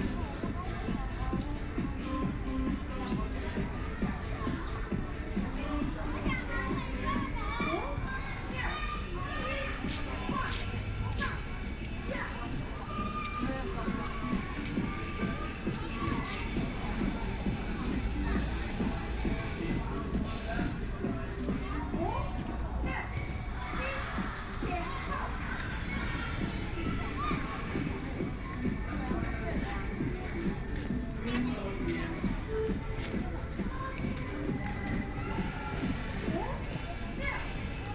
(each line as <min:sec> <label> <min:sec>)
0:00.0 women are doing sports 0:37.9